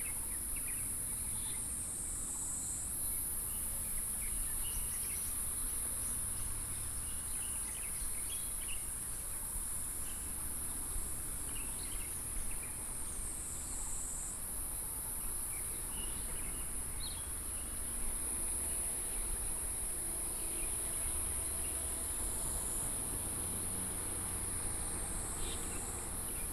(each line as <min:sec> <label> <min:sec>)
0:10.0 Traffic noise 0:26.5